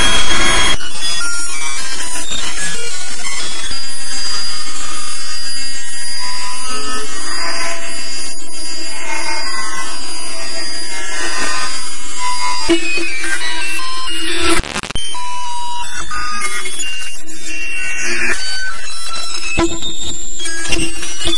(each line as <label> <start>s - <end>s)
synth 0.0s - 21.3s